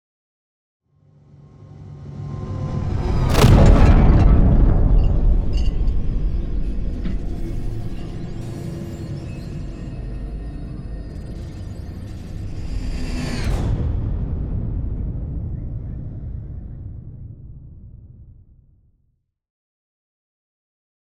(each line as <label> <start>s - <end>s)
whoosh 2.3s - 8.5s
explosion 2.8s - 8.7s
implosion 2.8s - 8.7s
impact 3.2s - 8.5s